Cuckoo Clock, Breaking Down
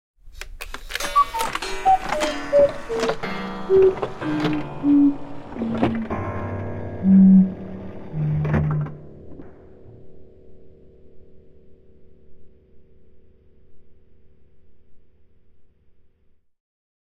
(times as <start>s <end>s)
0.7s 6.2s